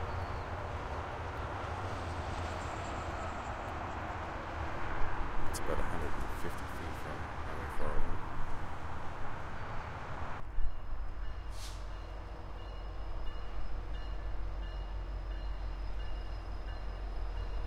Distant Highway 0:00.0 - 0:17.6

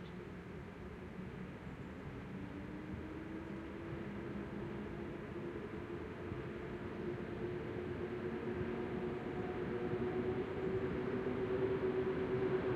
trains 0:00.3 - 0:12.7

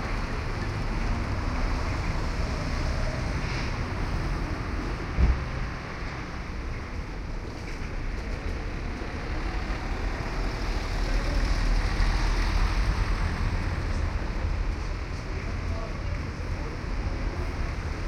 traffic 0:00.0 - 0:18.0

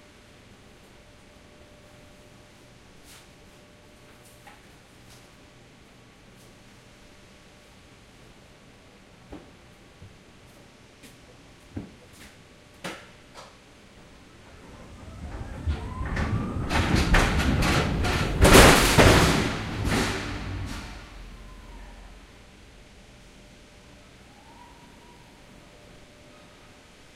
rumbling 0:14.1 - 0:25.5
creaking 0:14.4 - 0:22.7
forklift 0:14.4 - 0:22.8
truck 0:14.4 - 0:23.4
bang 0:14.5 - 0:22.9

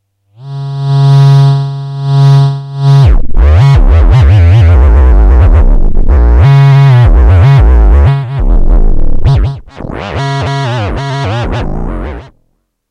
Virtual theremin sounds 0:02.9 - 0:12.3

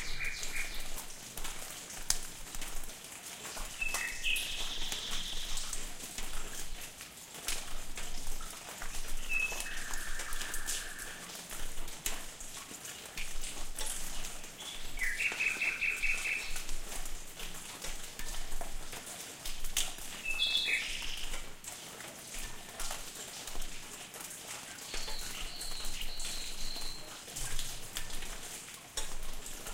drip 0:00.0 - 0:29.7
rain falling inside a patio 0:00.0 - 0:29.7
splash 0:00.0 - 0:29.7

